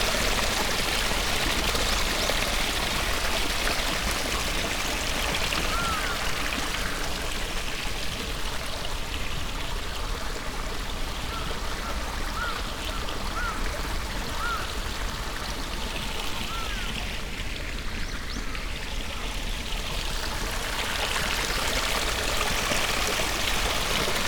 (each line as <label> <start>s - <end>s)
miniature waterfall 0.0s - 24.2s
black crows 5.7s - 7.2s
black crows 12.4s - 12.6s
black crows 13.4s - 13.6s
black crows 14.4s - 14.7s